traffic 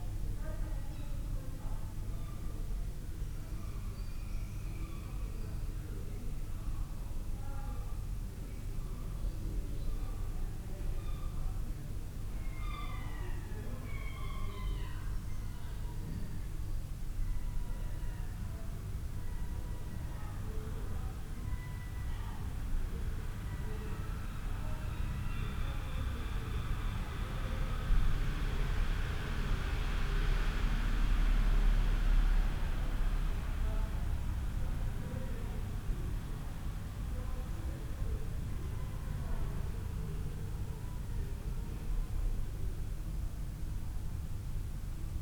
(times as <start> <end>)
25.1 37.1